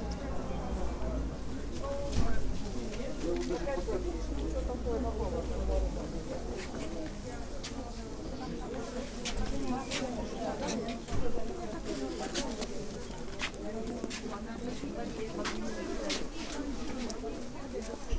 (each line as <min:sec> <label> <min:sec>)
0:00.0 Voices in Russian 0:18.1
0:00.0 Walkinth through rows of merchants 0:18.1